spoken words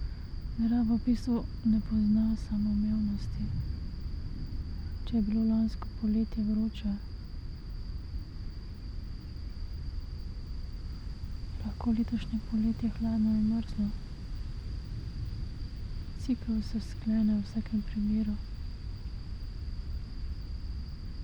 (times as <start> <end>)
11.6 14.0, 16.2 18.4